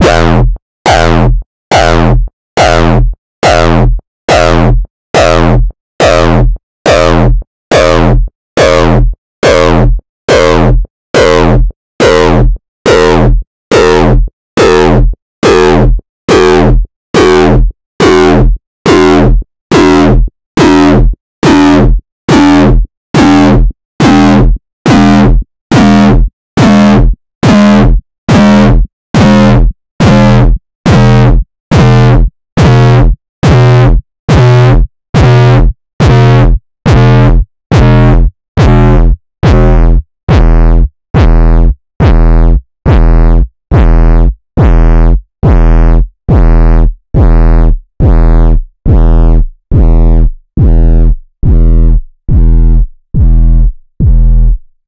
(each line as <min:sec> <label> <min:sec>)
0:42.0 kicks 0:44.0
0:44.6 kicks 0:44.8
0:48.0 kicks 0:48.3
0:48.9 kicks 0:49.1
0:50.6 kicks 0:50.8